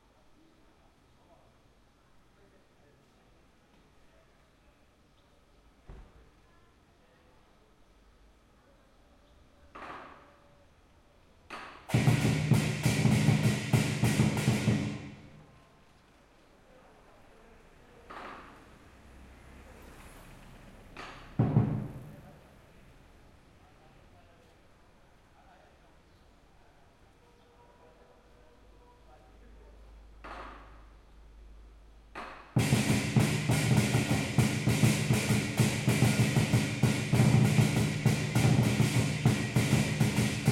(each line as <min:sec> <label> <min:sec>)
0:11.5 Drummers practicing on the street 0:15.6
0:20.8 Drummers practicing on the street 0:22.5
0:31.9 Drummers practicing on the street 0:40.5